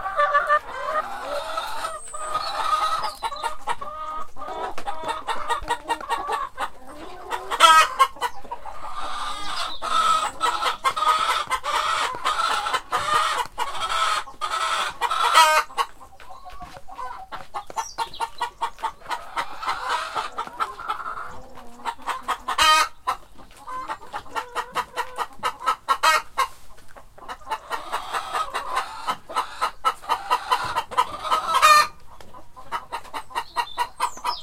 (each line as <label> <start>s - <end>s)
Excited clucking 0.0s - 34.4s